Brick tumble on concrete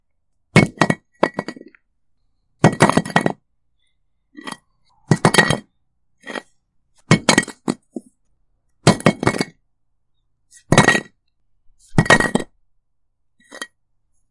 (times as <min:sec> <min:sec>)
0:00.5 0:01.8, 0:02.6 0:03.5, 0:04.4 0:08.2, 0:08.8 0:09.6, 0:10.5 0:12.6, 0:13.4 0:13.8